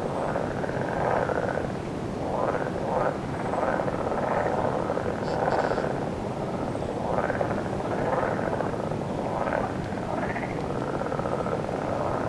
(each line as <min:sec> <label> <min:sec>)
0:02.4 Toads call 0:06.0